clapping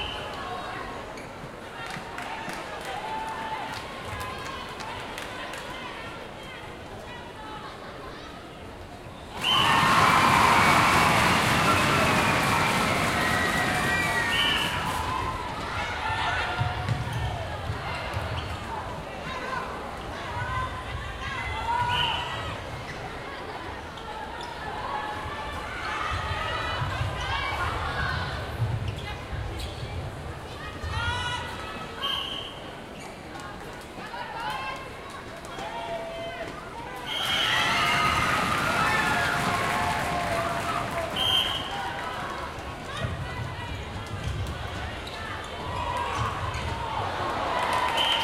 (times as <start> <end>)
1.8 5.7, 9.6 15.0, 38.3 42.2, 47.5 48.2